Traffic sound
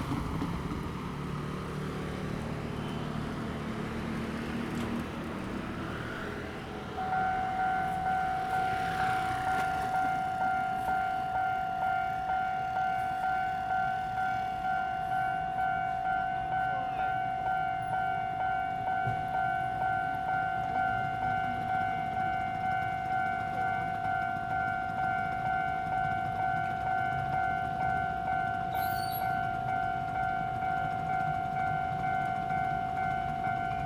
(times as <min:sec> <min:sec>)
0:00.0 0:24.5